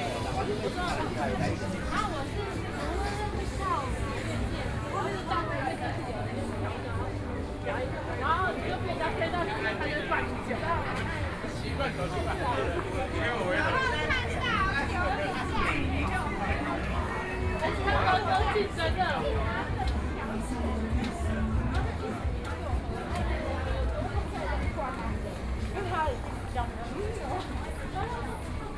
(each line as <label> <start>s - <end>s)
Various shops voices 0.0s - 28.7s